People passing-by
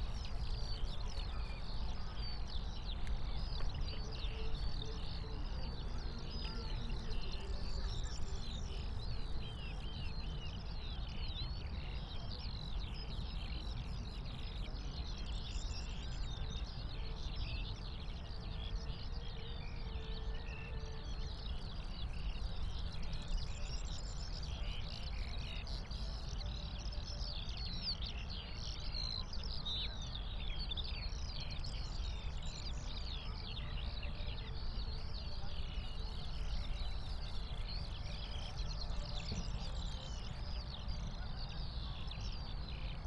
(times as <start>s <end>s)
0.0s 11.2s, 21.0s 43.0s